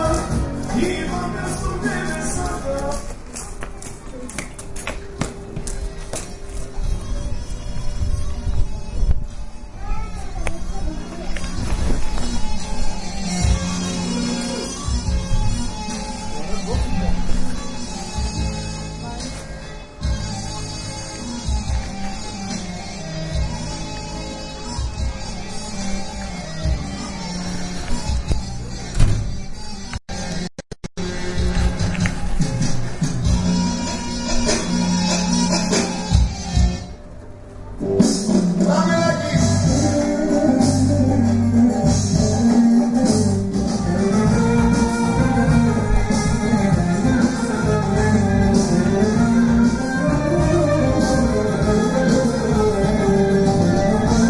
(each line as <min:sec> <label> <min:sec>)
0:00.0 music 0:54.2
0:00.0 street sounds 0:54.2